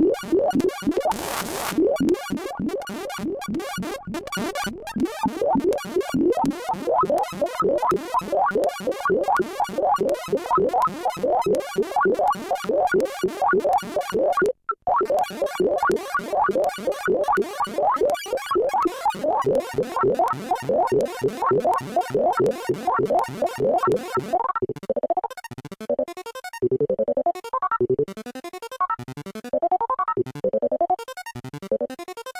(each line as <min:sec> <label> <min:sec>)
0:00.0 analog synth 0:07.6
0:26.6 analog synth 0:32.3